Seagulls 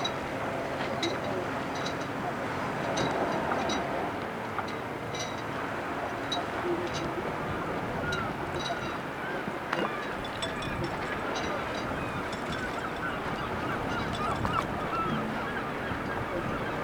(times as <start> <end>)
7.9 16.8